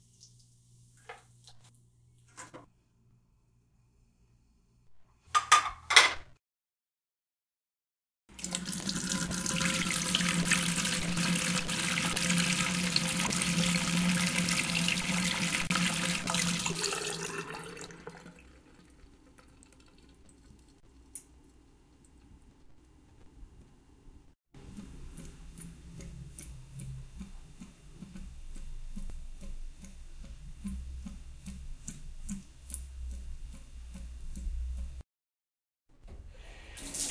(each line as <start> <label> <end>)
0.0 shower 1.6
5.3 dishes in sink 6.3
8.3 drain 20.8
8.4 shower 18.9
36.5 shower 37.1